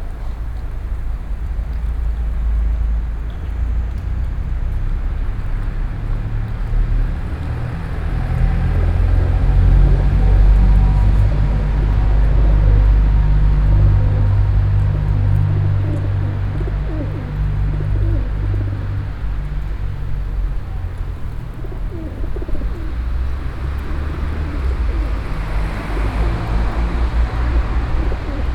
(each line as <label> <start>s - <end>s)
pigeons 8.7s - 19.7s
pigeons 20.5s - 26.8s
pigeons 27.4s - 28.5s